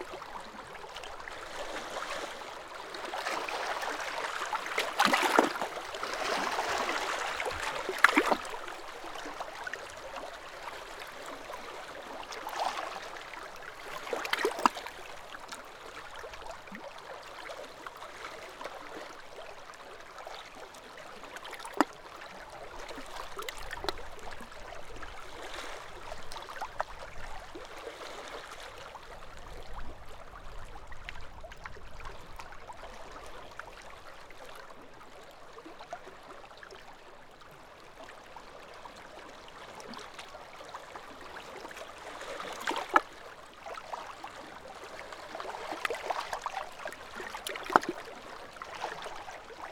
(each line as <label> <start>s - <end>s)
Sea lapping against rocks on coastline 3.0s - 9.4s
Sea lapping against rocks on coastline 42.0s - 43.2s
Sea lapping against rocks on coastline 44.6s - 49.2s